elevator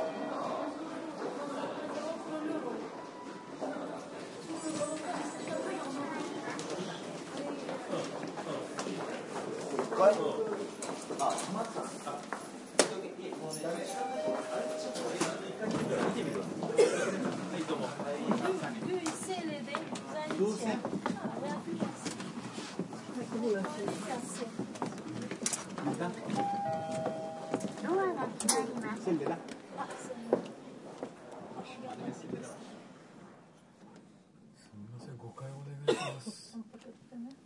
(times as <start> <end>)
26.4 27.7